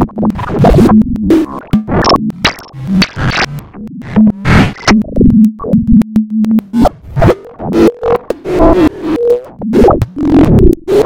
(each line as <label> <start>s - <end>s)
random tones/textures 2.0s - 3.6s
random tones/textures 4.2s - 5.0s